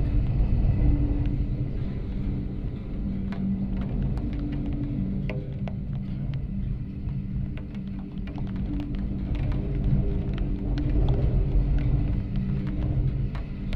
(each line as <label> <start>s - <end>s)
rain 0.0s - 13.7s
wind 0.0s - 13.7s